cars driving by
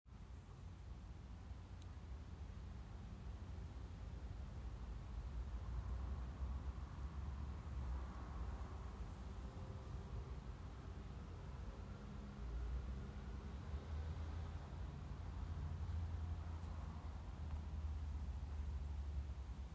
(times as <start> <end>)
5.9 19.5